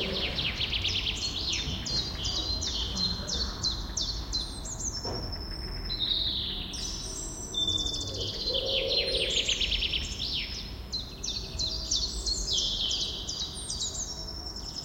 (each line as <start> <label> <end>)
0.0 robin singing from a poplar tree 14.8